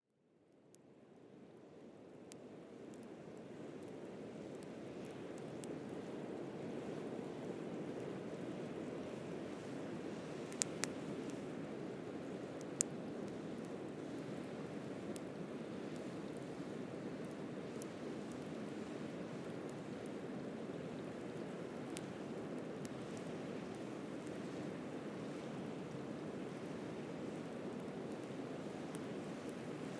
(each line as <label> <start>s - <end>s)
campfire 0.2s - 29.9s